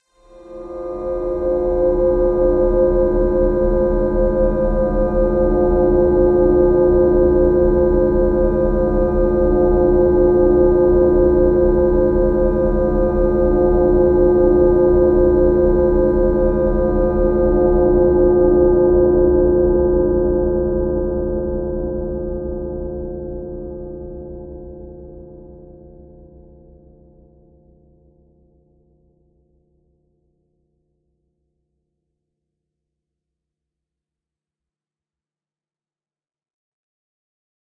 0.2s drone 24.4s

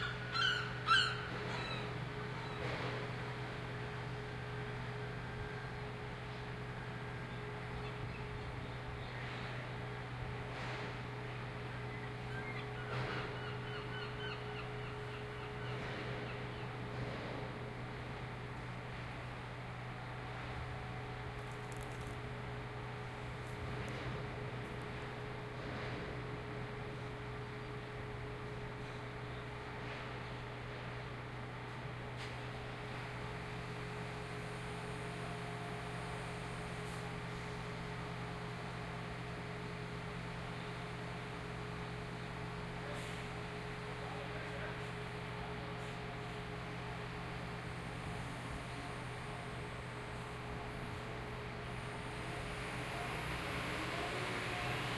0.0s seagull 1.9s
12.3s seagull 15.8s

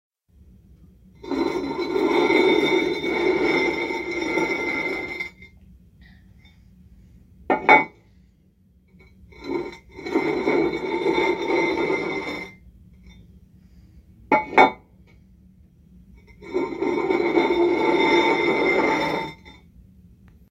1.2s dragging the toilet tank lid across the tank 5.5s
9.4s dragging the toilet tank lid across the tank 12.6s
16.3s dragging the toilet tank lid across the tank 19.6s

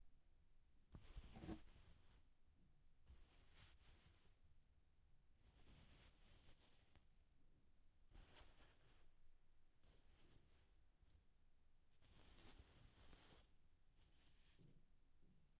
12.0s rustling 14.7s

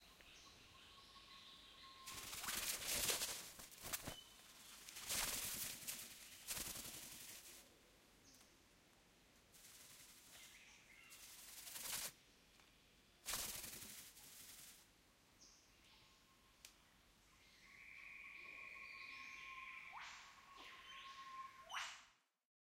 2.1s Riflebird Flapping 7.6s
9.6s Riflebird Flapping 12.1s
13.3s Riflebird Flapping 14.8s

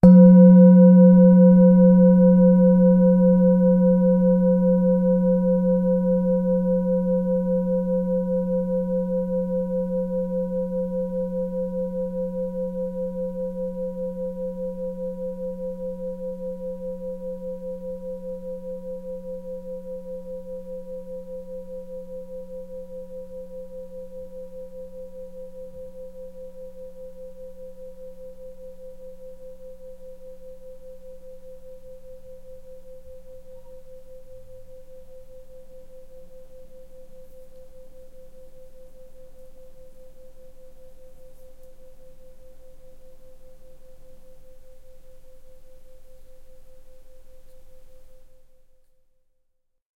0.0s singing bowl - single strike 5.7s
33.5s singing bowl - single strike 34.8s

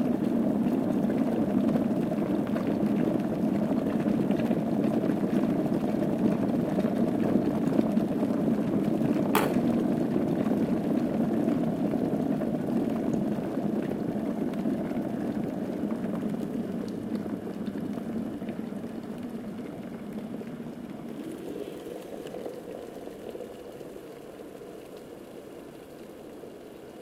0.0s Electric kettle boiling water 27.0s

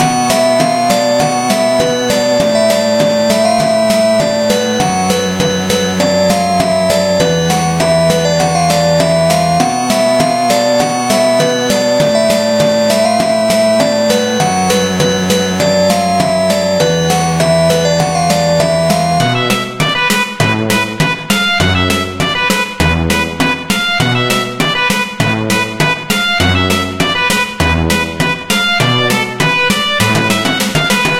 0.0s synth 20.7s

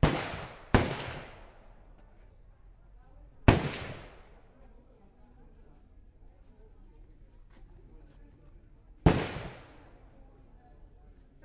0.0s real rounds of AK47 1.7s
0.0s m16 2.2s
0.0s other guns 2.4s
3.3s m16 4.6s
3.4s other guns 4.6s
3.5s real rounds of AK47 4.2s
9.0s m16 10.2s
9.0s other guns 10.2s
9.1s real rounds of AK47 9.9s

